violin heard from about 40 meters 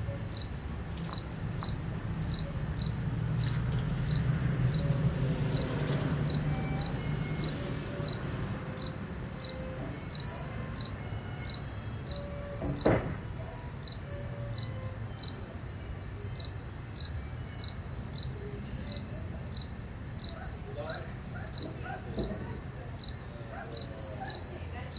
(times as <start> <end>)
2.3 15.5